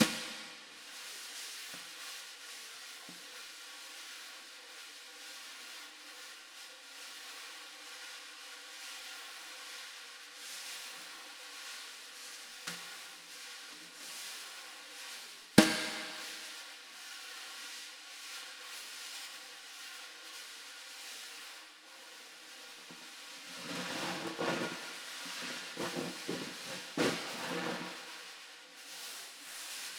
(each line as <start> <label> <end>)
0.0 rimshot 0.6
0.0 snare 0.6
0.0 snareroll 2.1
0.0 flam 29.9
15.1 snareroll 16.8
15.6 snare 16.6
15.6 rimshot 16.4
23.6 snareroll 28.3